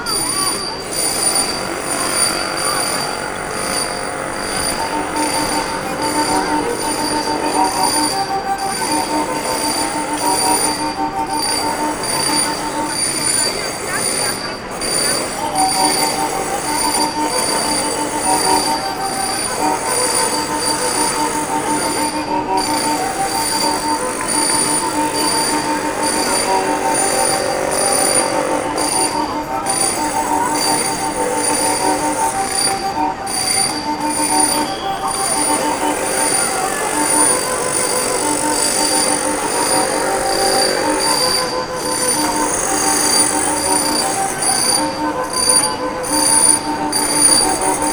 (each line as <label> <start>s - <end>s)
marteaux 0.0s - 47.9s